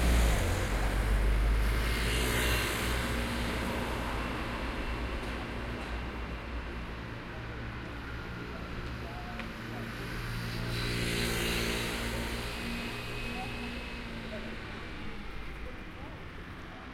0.0s many Cars and MotorRolers passing by 16.9s

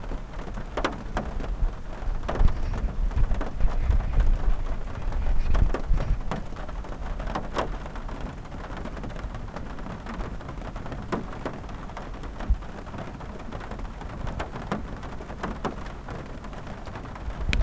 0.0s light autumn rain on the metal roof of the car 17.6s

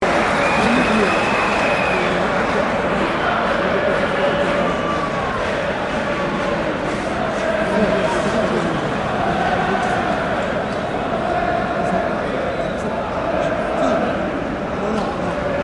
0.0s music in the stadium 15.6s
0.0s fans 15.6s

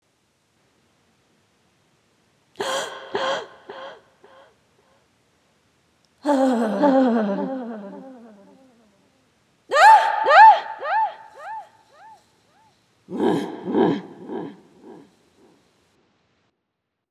2.6s cry 4.5s
2.6s gasp 4.5s
6.2s cry 9.1s
9.7s cry 15.1s
13.1s grunt 15.1s

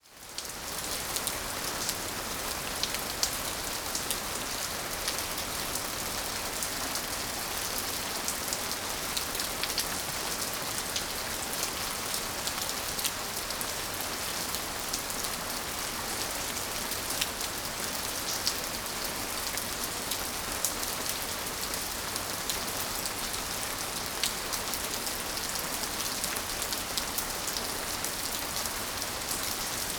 0.0s Water pours from the eaves of the roof 29.9s
0.1s heavy rain 29.9s

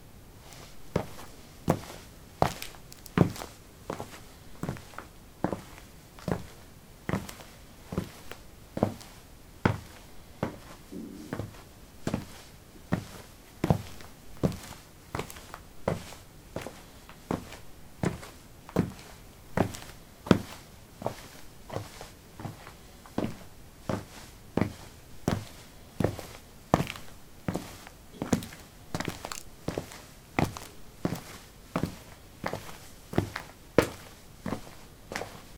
0.4s concrete 13a sportshoes walk 35.5s

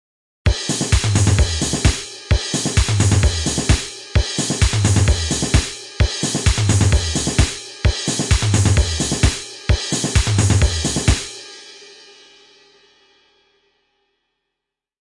0.5s kick 5.7s
0.6s snare 11.4s
6.5s kick 7.6s

